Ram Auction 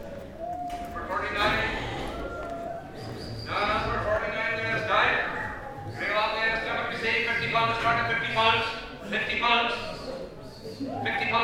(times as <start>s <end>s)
1.3s 6.4s